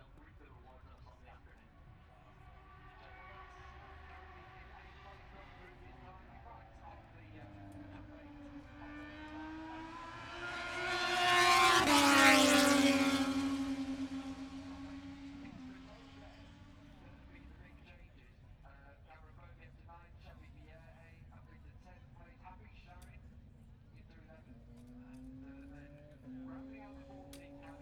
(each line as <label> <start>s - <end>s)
moto two free practice three 2.5s - 17.9s
moto two free practice three 23.0s - 27.8s